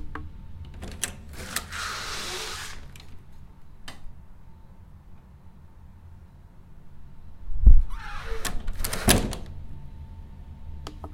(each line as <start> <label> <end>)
0.7 door opening and closing to outside 3.2
7.8 door opening and closing to outside 9.6